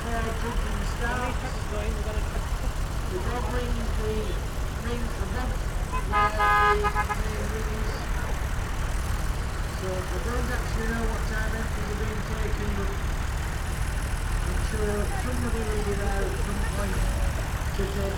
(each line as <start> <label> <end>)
0.0 vintage tractor display 18.1